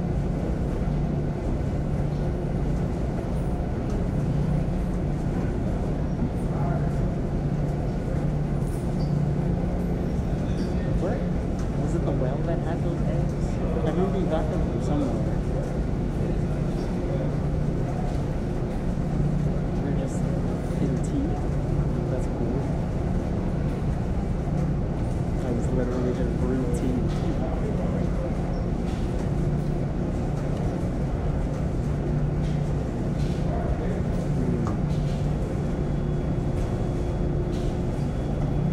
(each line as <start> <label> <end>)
5.2 distant conversations 38.7